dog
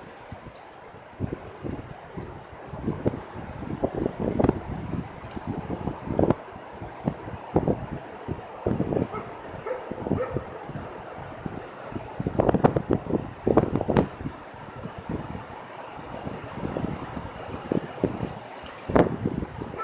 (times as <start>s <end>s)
9.1s 10.5s